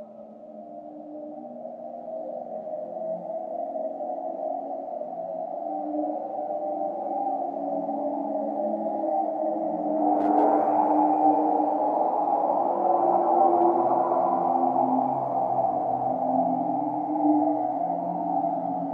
0.0s reverb circuit with self-limiting feedback 18.9s

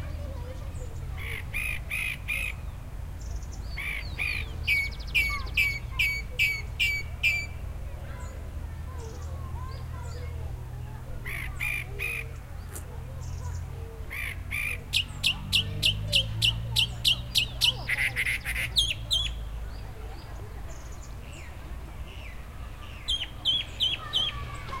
0.0s wind 24.8s
0.2s bird 10.4s
3.5s kids 24.8s
11.2s bird 24.8s
12.2s bike 24.8s

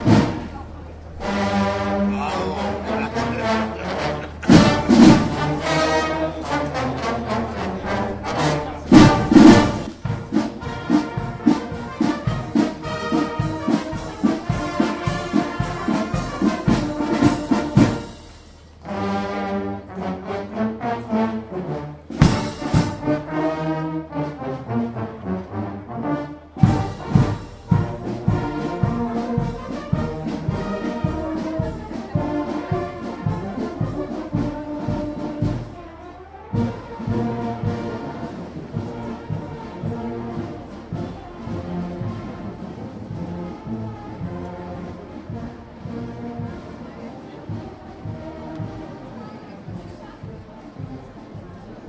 0.0s voices of people in cafe 18.2s
0.0s military marching band 51.8s
26.1s voices of people in cafe 51.8s

